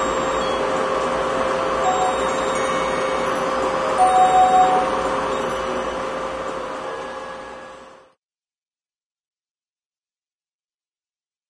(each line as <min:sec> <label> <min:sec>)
0:01.8 bells 0:06.3